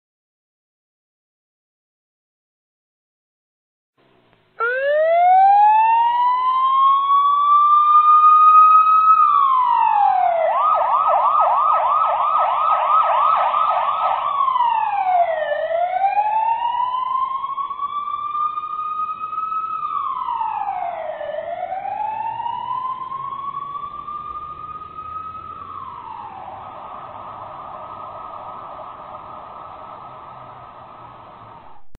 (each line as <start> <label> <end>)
4.6 Police siren 31.9